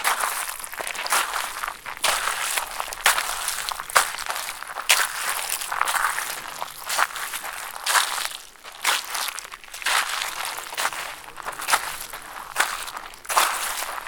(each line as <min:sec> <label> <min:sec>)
0:00.0 Walking on edge of bacterial pond 0:14.0